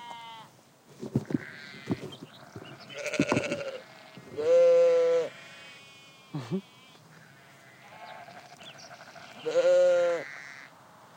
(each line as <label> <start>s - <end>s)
Sheep 1.1s - 11.0s